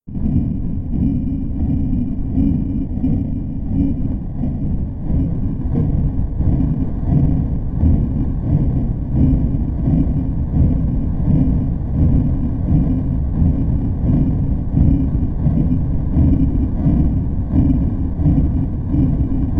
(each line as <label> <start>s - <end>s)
Deep, sonorous machine 0.0s - 19.5s